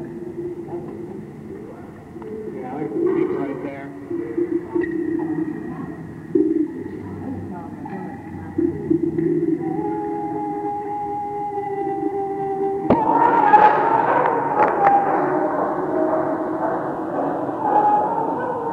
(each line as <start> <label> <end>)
0.0 speaker or two playing some ambient sounds 18.7